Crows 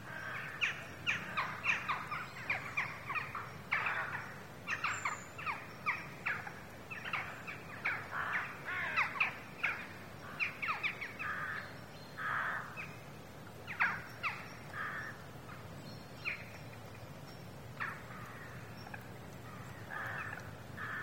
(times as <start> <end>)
0.0 5.0, 6.3 13.0, 13.7 15.2, 17.8 21.0